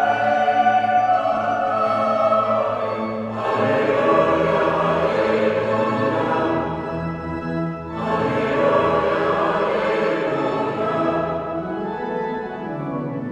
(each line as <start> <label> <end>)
0.0 choir 7.2
0.0 church organ 13.3
7.9 choir 13.3